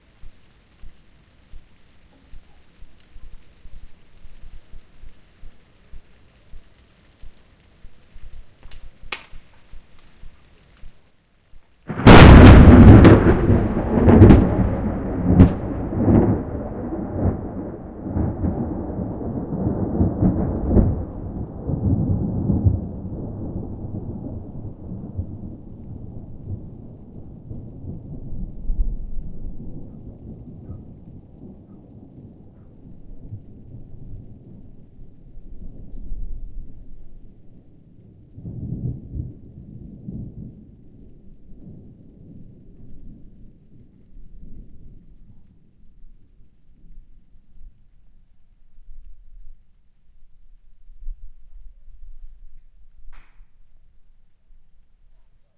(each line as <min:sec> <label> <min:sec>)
0:00.0 rain 0:55.5
0:11.9 Really loud powerfull thunder sound 0:26.6